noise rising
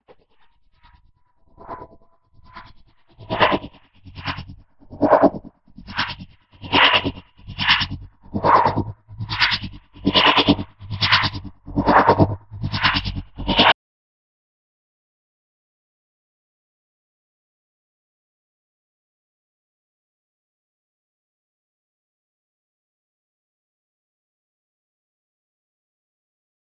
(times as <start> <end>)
1.6 13.8